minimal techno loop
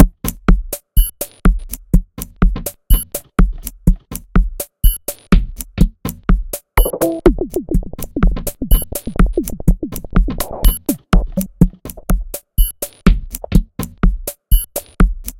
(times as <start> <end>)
6.6 15.3